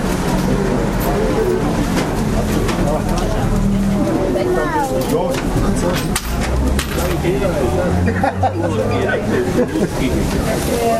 0.0s market atmosphere V 10.9s

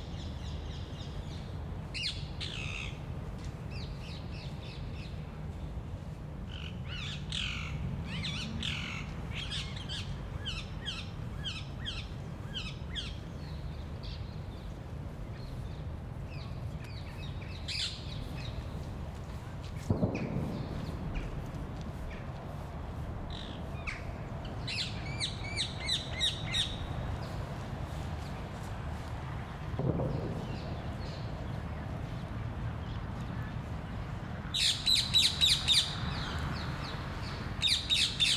30.0s birds 38.3s

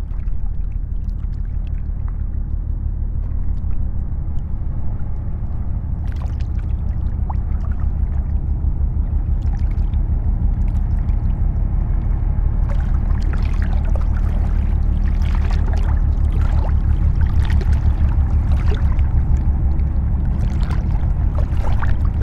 0.0s boat is passing by on the Seine river 22.2s
10.6s hopper dredger is cleaning constantly the river bed 22.2s

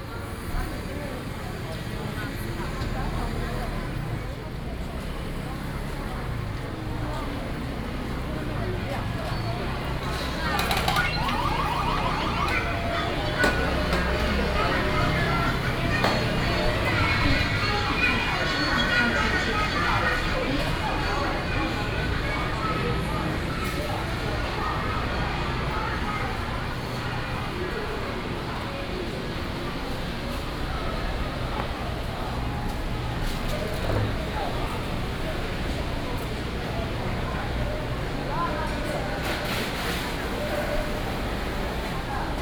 0.0s Traffic Sound 42.4s

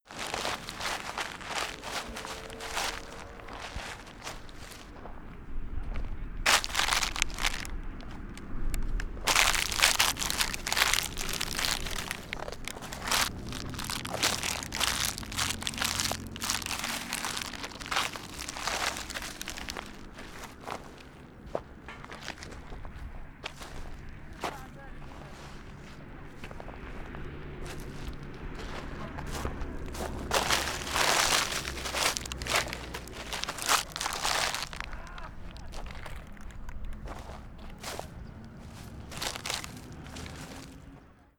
0.0s walking through plastic material 41.0s

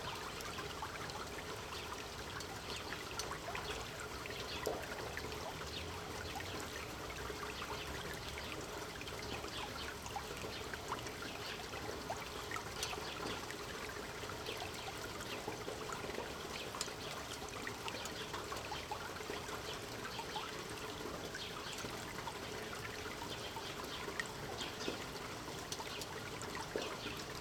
0.0s open canal at street level, clean water 27.4s

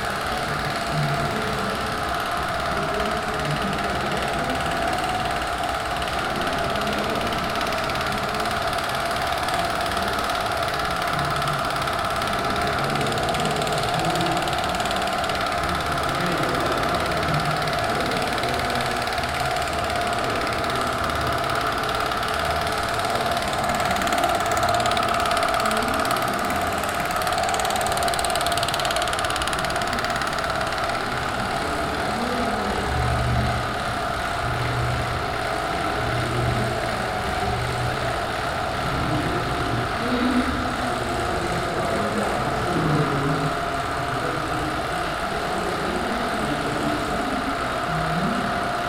0.0s 16 mm movie projectors 48.8s

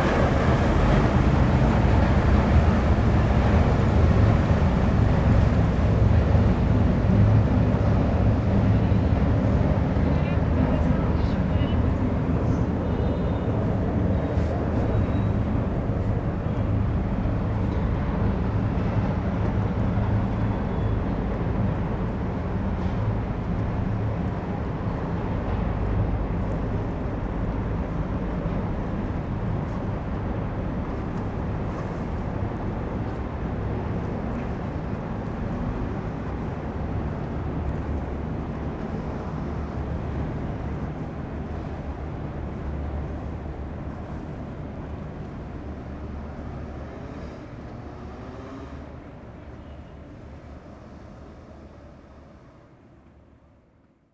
0.0s big tourist boat begins to navigate 53.6s
0.0s water of the Seine river is flowing on stairs 54.0s

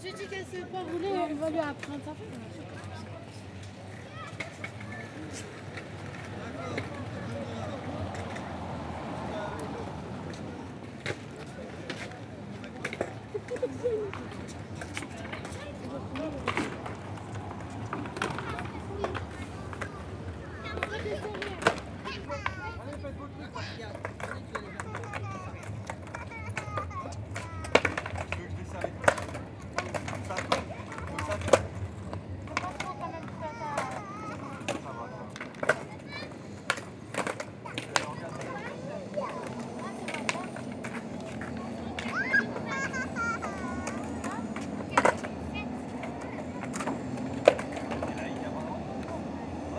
0.0s young girls playing skateboards 49.7s

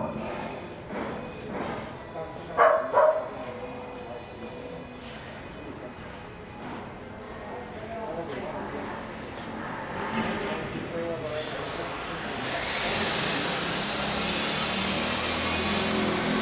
0.0s Construction Sound 5.1s
0.0s Carpentry Workers 16.4s
2.6s Dogs barking 3.4s
9.2s Construction Sound 16.4s

